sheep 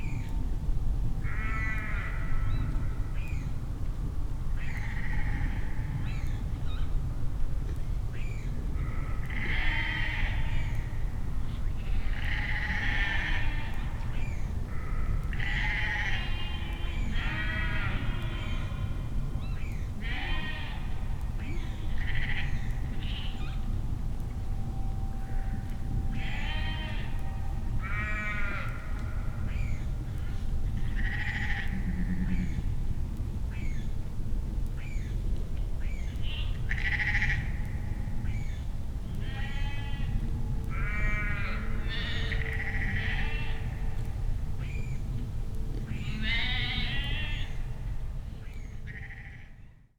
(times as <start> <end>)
25.4 29.2